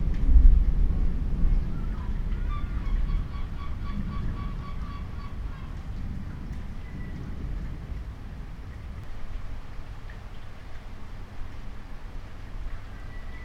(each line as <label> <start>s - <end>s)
Thunderstorms 0.0s - 9.9s